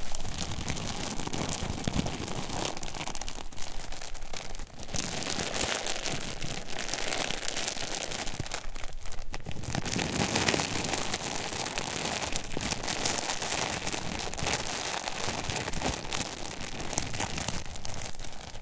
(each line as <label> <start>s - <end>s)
Plastic bag 0.0s - 18.6s